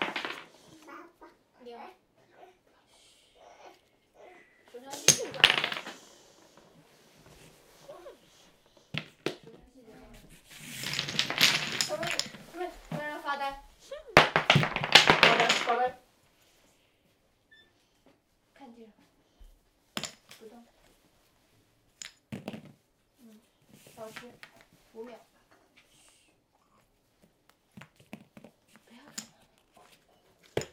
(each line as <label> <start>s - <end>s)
Throw-wooden-toy-blocks 0.0s - 1.2s
Throw-wooden-toy-blocks 4.2s - 16.0s
Throw-wooden-toy-blocks 19.4s - 21.0s
Throw-wooden-toy-blocks 21.9s - 22.8s
Throw-wooden-toy-blocks 23.4s - 25.2s
Throw-wooden-toy-blocks 27.6s - 30.7s